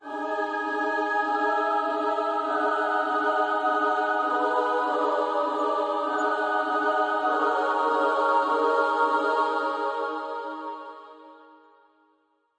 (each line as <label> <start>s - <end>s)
choir 0.0s - 12.2s